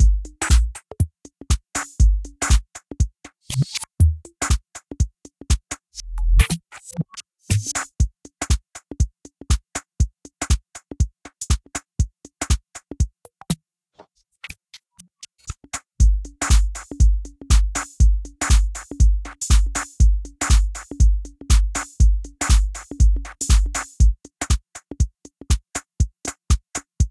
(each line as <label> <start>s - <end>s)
Groovebox MC-505 beat 0.0s - 13.5s
Groovebox MC-505 beat 14.4s - 27.1s